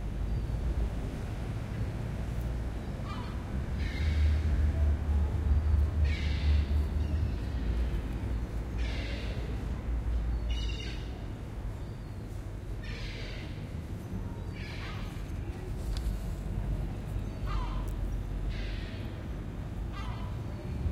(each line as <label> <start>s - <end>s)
birds 17.1s - 20.9s